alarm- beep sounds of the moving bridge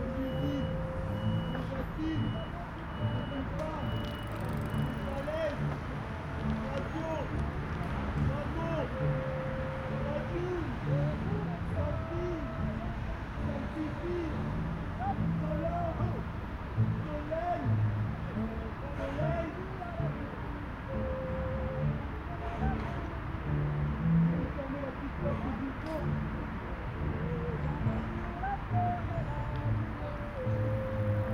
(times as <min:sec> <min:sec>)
0:00.0 0:05.4